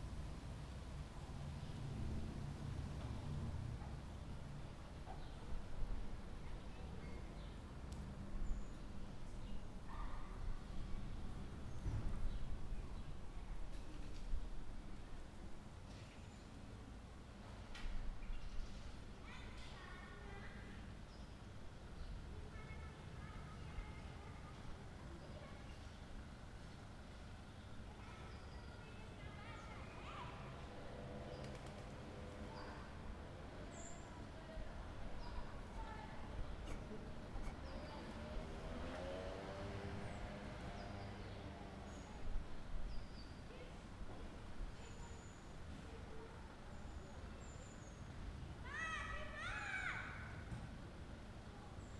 13.6s poplars on this square make a rustling sound 15.1s

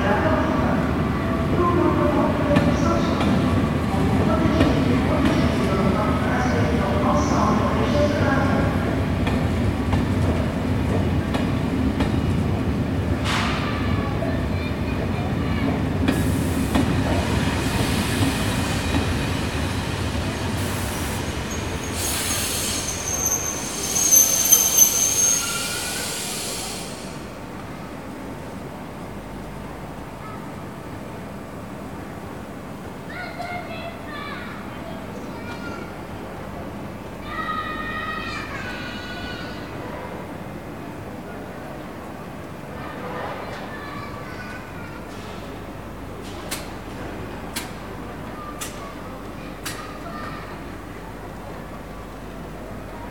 0.0s Train 53.1s

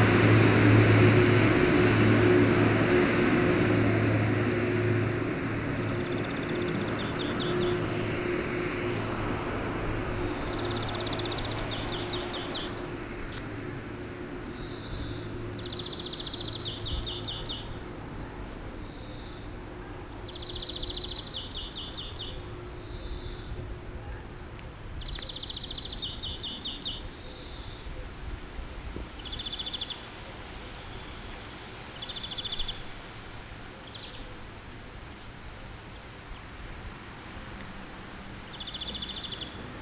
0.0s Seine river 39.8s
0.0s enormous tractors passing by 39.8s
5.8s bird song 8.1s
10.1s bird song 12.9s
14.1s bird song 23.7s
25.0s bird song 27.9s
29.2s bird song 30.2s
31.9s bird song 32.9s
33.8s bird song 34.4s
38.4s bird song 39.7s

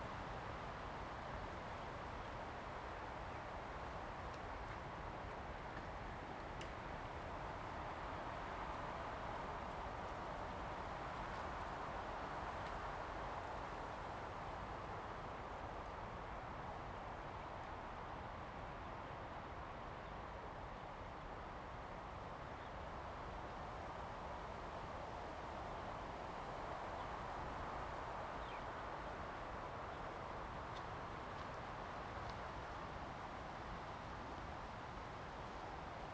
0.0s Wind 36.1s

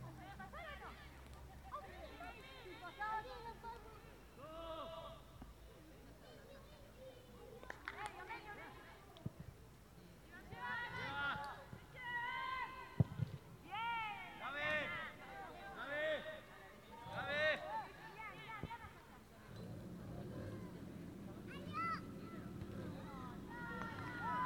17.0s Entrainement de football 24.4s

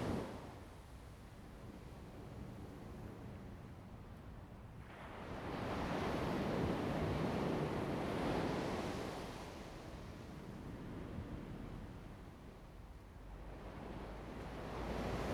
13.1s waves 15.3s

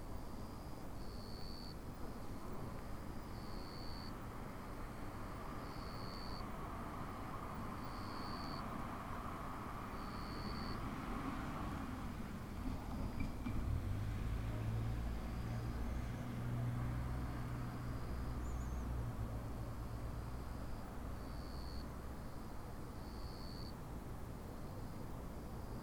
0.1s Cicadas (jr something similar) singing 2.3s
1.3s distant cars passing by 25.8s
3.0s Cicadas (jr something similar) singing 23.8s

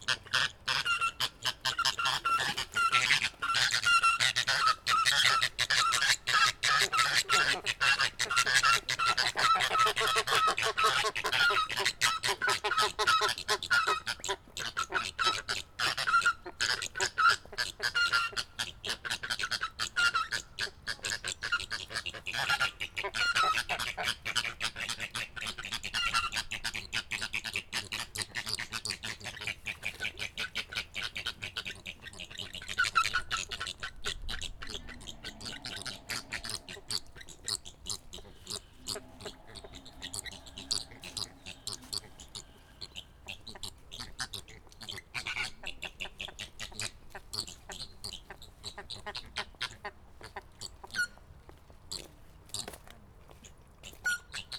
29.6s flamingos 46.4s

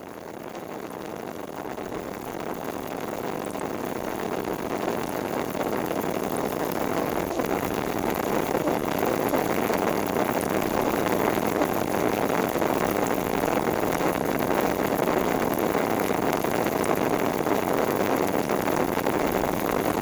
0.0s leakage in a biogas pipe 20.0s

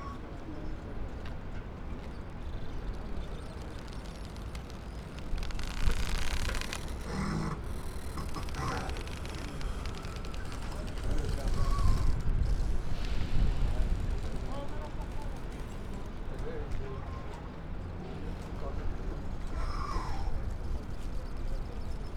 0.0s catamaran arrival 22.1s
1.9s crunching rope holding a boat to the pier 16.2s
2.2s yacht hulls rubbing against each other 14.8s

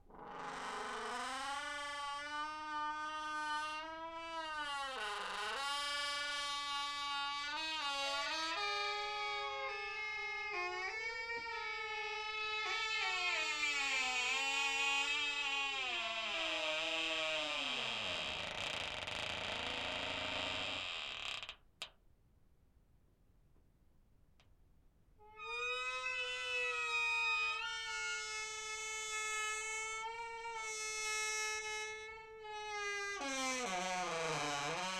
25.4s Creaky hinges of a large metal door 34.9s

